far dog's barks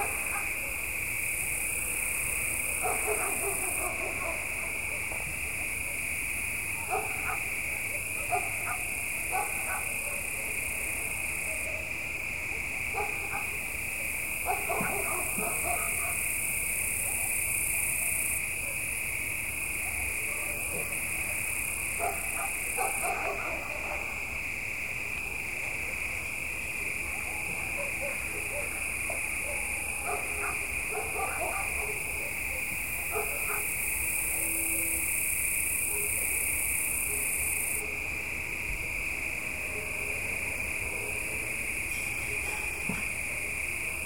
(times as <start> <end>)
0.0 0.9, 1.9 6.1, 6.8 19.0, 19.7 24.3, 27.0 34.5, 35.8 38.0, 42.0 43.3